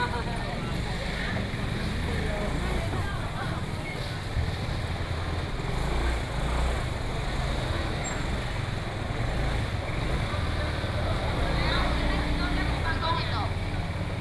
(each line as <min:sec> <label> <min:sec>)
0:00.0 market selling voice 0:04.8
0:00.0 Traffic sound 0:14.2
0:00.0 Walking through the market 0:14.2
0:10.0 market selling voice 0:14.2